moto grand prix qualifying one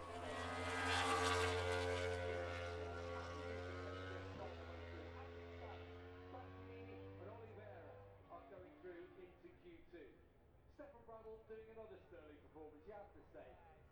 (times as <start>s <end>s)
0.0s 9.2s